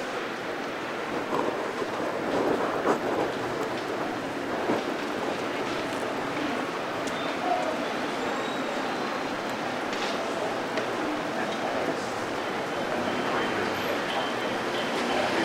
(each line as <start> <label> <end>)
0.0 street sounds 15.4